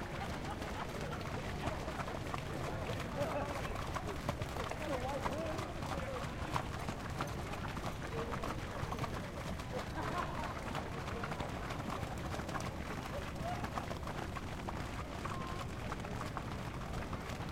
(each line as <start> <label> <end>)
0.0 Horses walking by on sloppy track 17.5